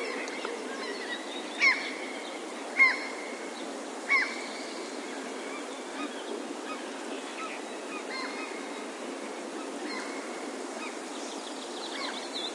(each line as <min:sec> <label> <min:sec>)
0:00.0 Greenfinches 0:12.5
0:02.8 Seagulls 0:03.3
0:02.8 magpies 0:03.5